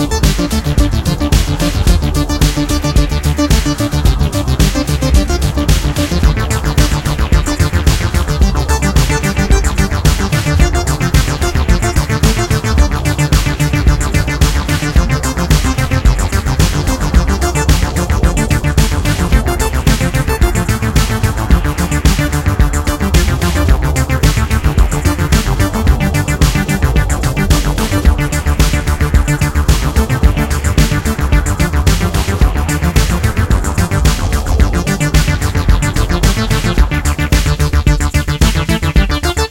Drum Samples 0.0 - 39.5
synthesizer 0.0 - 39.5

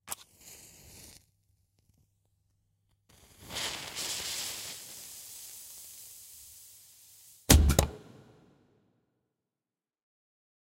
table bomb 7.5 - 8.4

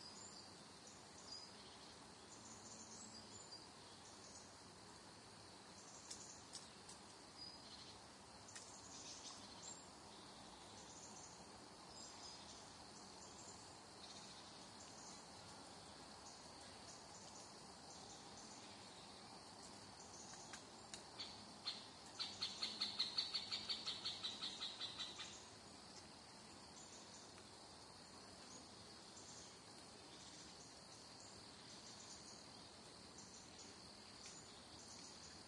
crickets in the background 0.0 - 35.4
wind 0.0 - 35.4
bird calls 20.0 - 25.5

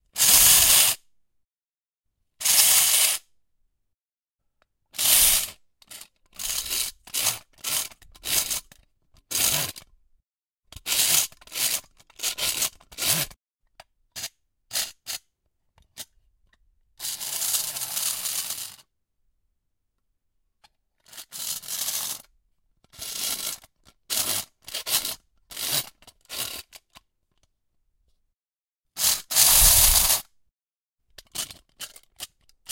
little helicopter wind-up tin toy 5.0 - 8.7
little helicopter wind-up tin toy 17.0 - 18.8
little helicopter wind-up tin toy 21.1 - 22.3
little helicopter wind-up tin toy 23.0 - 26.8
little helicopter wind-up tin toy 29.0 - 30.2
little helicopter wind-up tin toy 31.2 - 32.7

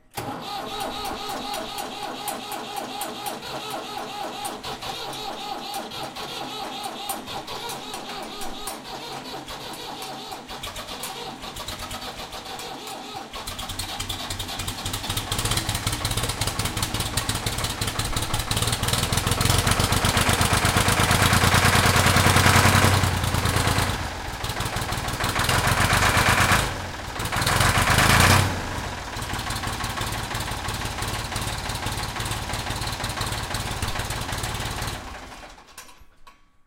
Diesel Tractor starts and runs in cold weather 0.0 - 36.6

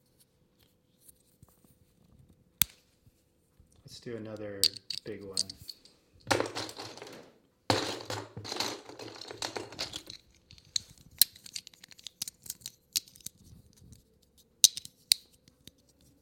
Lego bricks clicking together 4.6 - 7.2
Lego bricks clicking together 8.5 - 14.0
Lego bricks clicking together 14.6 - 16.1

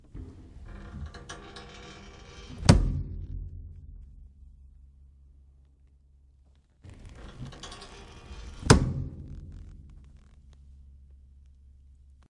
Recliner couch closes up, with springs reverberation 6.9 - 10.4

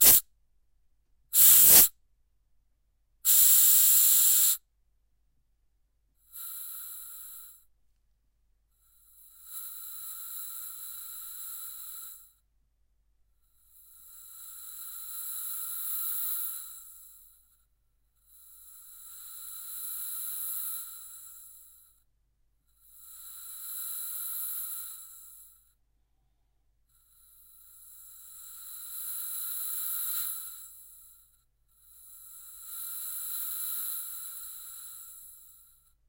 spraycan 0.0 - 0.2
spraycan 1.4 - 1.9
spraycan 3.3 - 4.6

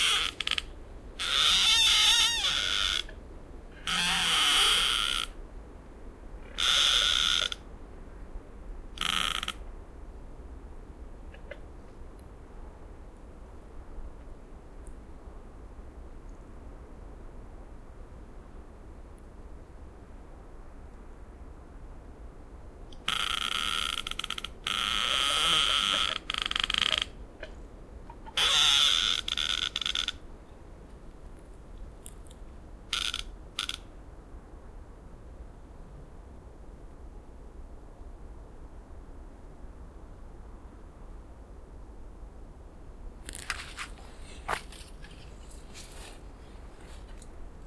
two trees creaking 0.0 - 5.4
two trees creaking 6.4 - 7.7
two trees creaking 8.9 - 9.7
two trees creaking 23.0 - 30.3
two trees creaking 32.0 - 33.9
two trees creaking 43.2 - 47.6

